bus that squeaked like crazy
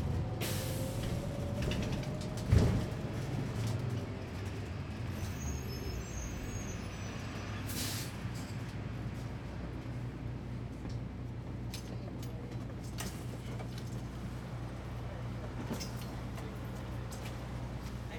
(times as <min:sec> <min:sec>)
0:05.0 0:08.2